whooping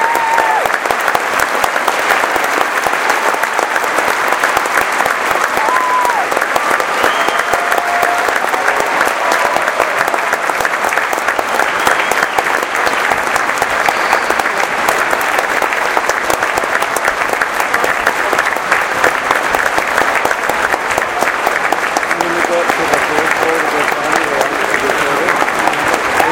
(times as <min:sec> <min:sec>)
0:00.0 0:00.8, 0:05.6 0:10.4